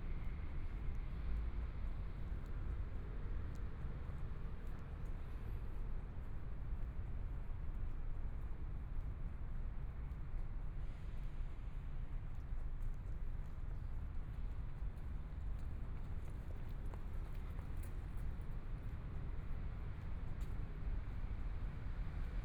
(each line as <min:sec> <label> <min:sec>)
0:00.0 walking in the Street 0:22.4